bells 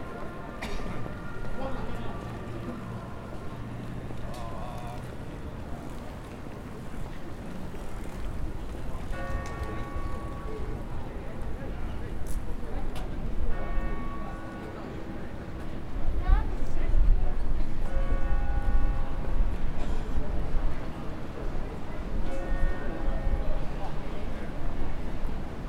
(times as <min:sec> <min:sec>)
0:09.1 0:11.3